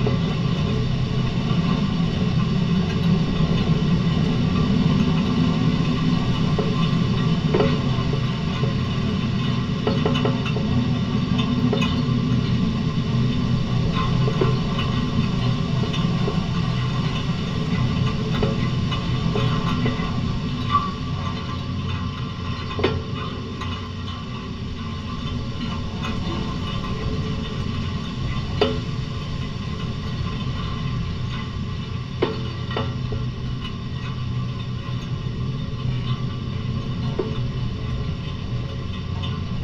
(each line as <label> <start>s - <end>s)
Electricity pole resonance 0.0s - 39.6s